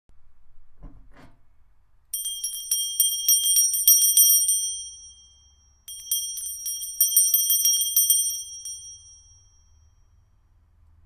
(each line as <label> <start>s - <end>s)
Bell, ringing, ring 2.2s - 10.4s